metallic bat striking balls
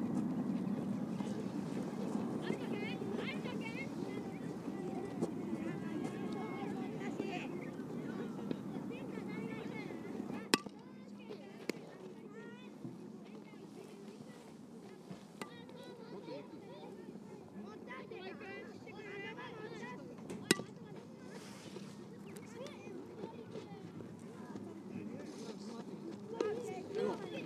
0:10.6 0:10.8, 0:15.4 0:15.7, 0:20.5 0:20.7

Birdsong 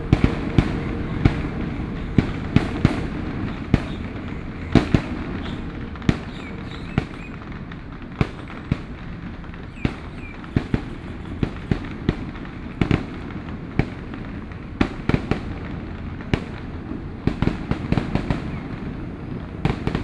0:00.0 0:13.2

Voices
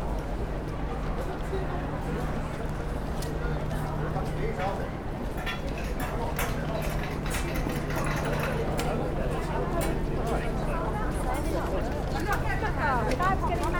0:06.8 0:13.7

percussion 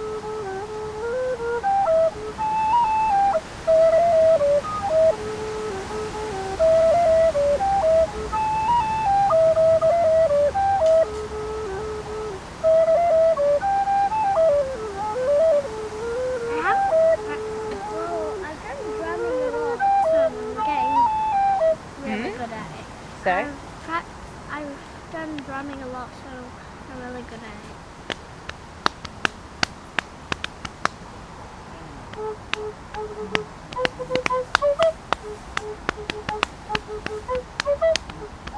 0:27.3 0:31.2, 0:32.0 0:38.5

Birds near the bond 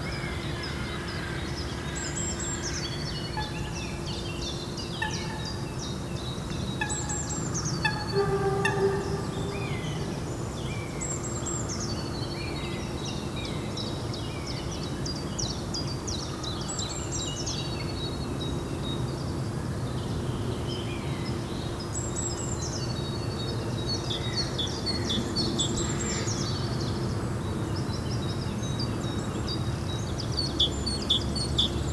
0:06.8 0:10.2

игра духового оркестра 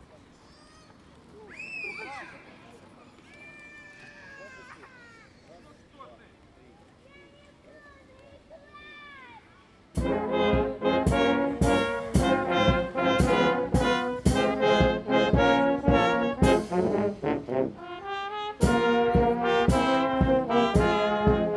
0:10.0 0:21.5

